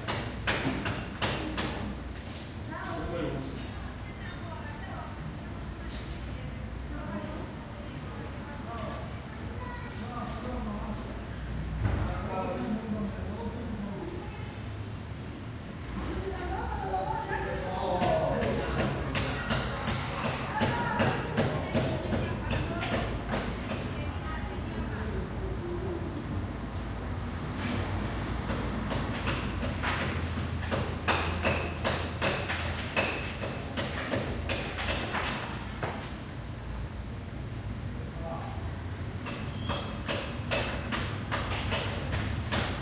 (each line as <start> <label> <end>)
2.7 people talking 11.1
16.0 people talking 26.4